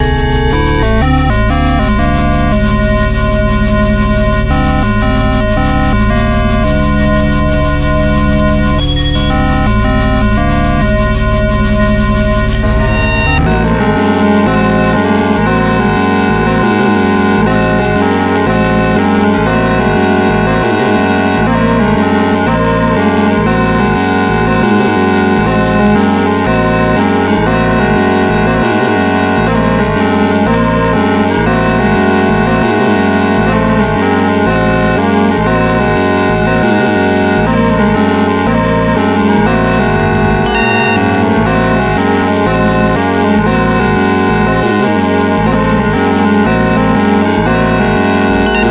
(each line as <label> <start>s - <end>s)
circuitbent 0.0s - 48.7s